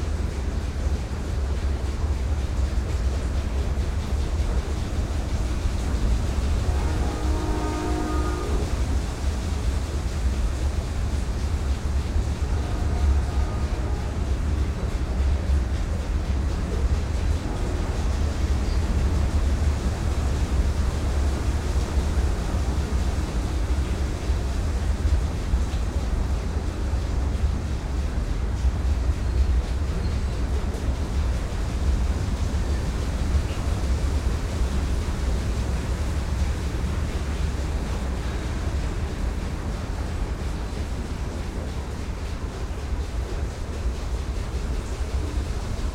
waterwheel 0:00.0 - 0:45.9

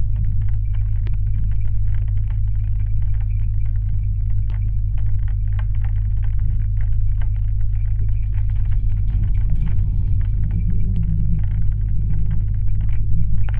metallic waterrower 0:08.4 - 0:13.5

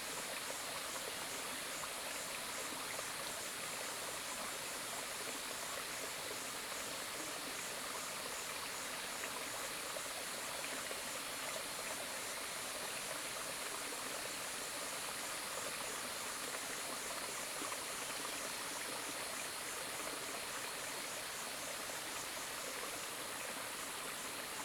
stream 0:00.0 - 0:24.6

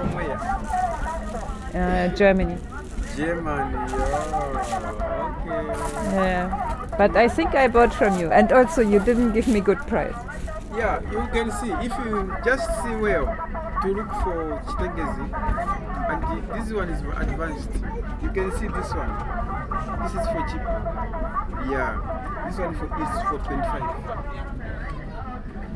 chatting 0:00.0 - 0:24.3

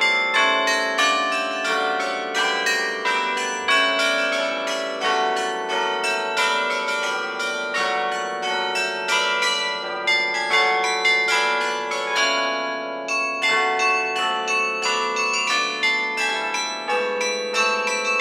Carillon 0:00.0 - 0:18.2

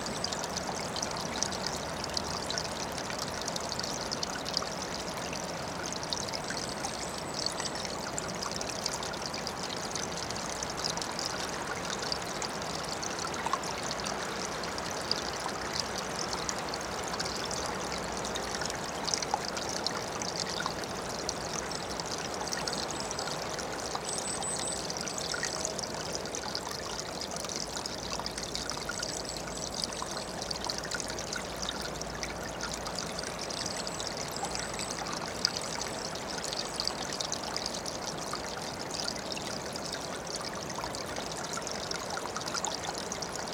small river 0:00.0 - 0:43.5
tiny ice of river 0:00.0 - 0:43.5

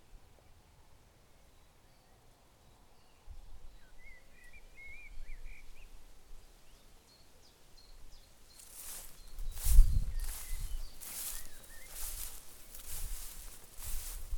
light breeze 0:00.0 - 0:14.3
birds 0:06.6 - 0:14.3
Walking though dry grass 0:08.4 - 0:14.3

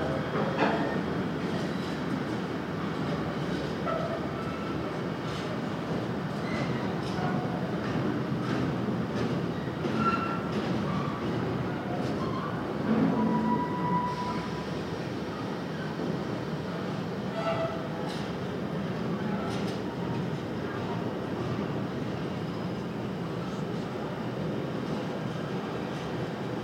Freight Trains and Passenger Trains passing through the station 0:00.0 - 0:26.6

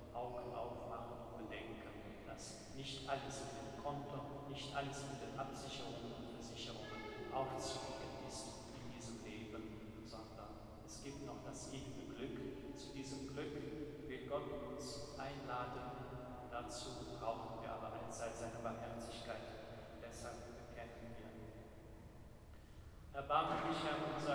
priest talks 0:00.0 - 0:21.5
priest talks 0:23.2 - 0:24.3

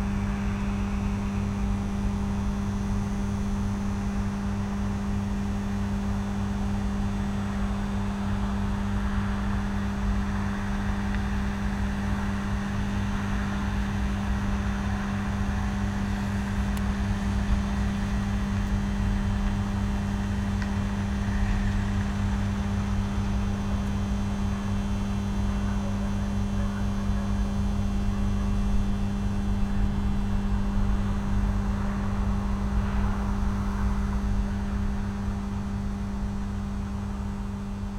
Low buzz of electrical substation transformers 0:00.0 - 0:37.9

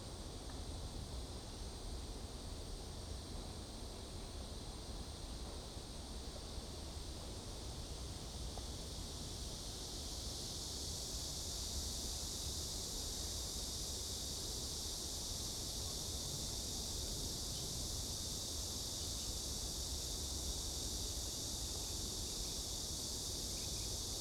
Cicada sound 0:09.9 - 0:24.2

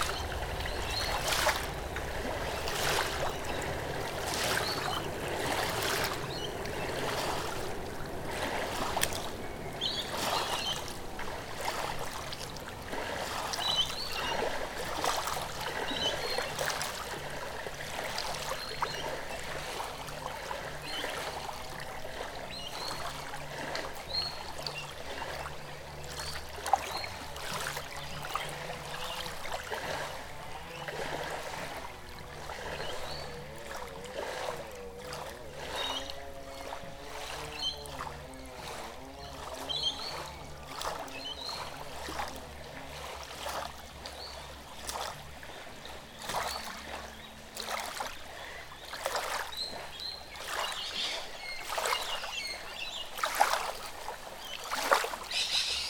Waves softly lap 0:00.0 - 0:55.8
motorboats rush across the water 0:00.0 - 0:55.8
Rainbow Lorikeets 0:54.6 - 0:55.8
Noisy Miners call in the surrounding trees 0:55.2 - 0:55.8

